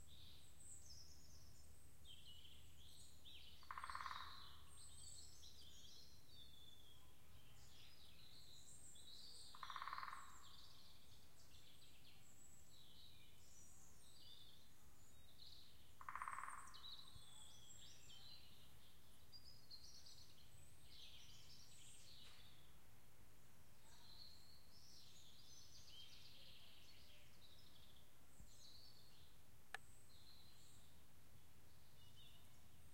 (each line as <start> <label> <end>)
3.3 woodpecker 5.6
9.1 woodpecker 11.0
15.9 woodpecker 18.6